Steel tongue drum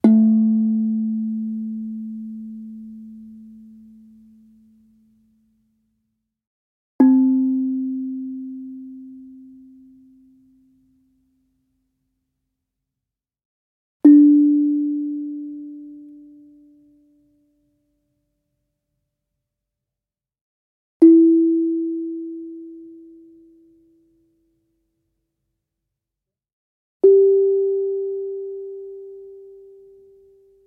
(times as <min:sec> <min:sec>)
0:00.0 0:05.2, 0:07.0 0:10.9, 0:14.0 0:17.2, 0:21.0 0:23.9, 0:27.0 0:30.6